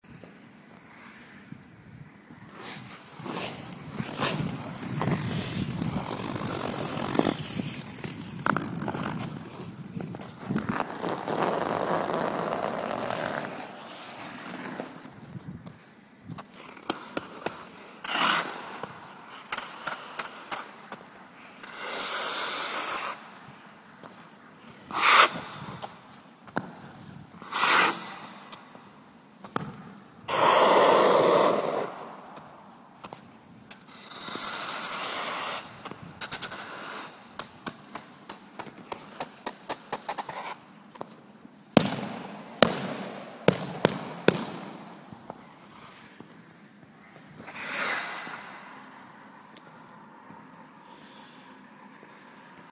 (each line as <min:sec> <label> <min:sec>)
0:02.3 scrapes 0:15.6
0:02.4 scratches 0:15.4
0:16.3 scrapes 0:28.9
0:16.4 scratches 0:23.2
0:30.3 scrapes 0:41.2
0:33.7 scratches 0:40.6
0:45.0 scrapes 0:49.0
0:47.3 scratches 0:48.7